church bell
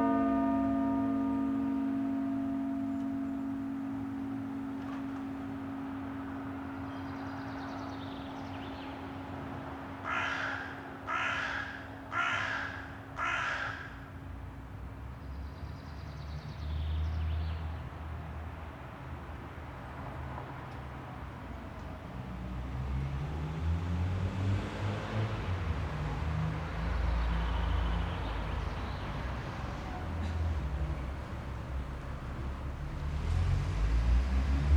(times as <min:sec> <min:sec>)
0:00.0 0:14.3, 0:24.7 0:34.7